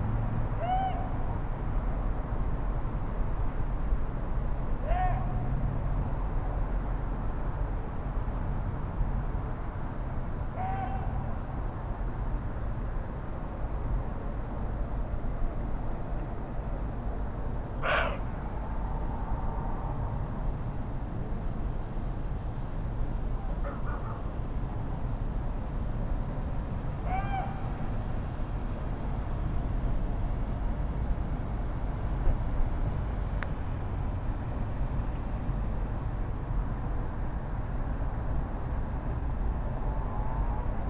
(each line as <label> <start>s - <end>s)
male deer barking and grunting 17.8s - 18.3s